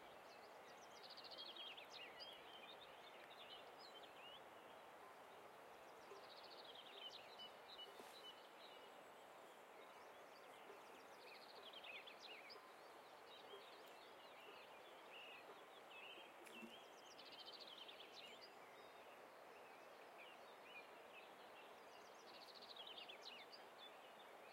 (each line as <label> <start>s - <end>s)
river 0.0s - 24.5s